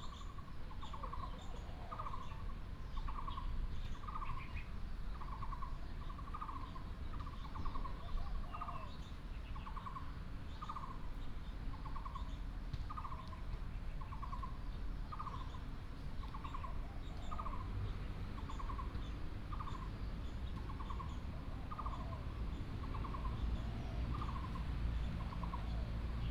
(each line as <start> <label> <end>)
12.6 traffic sound 26.3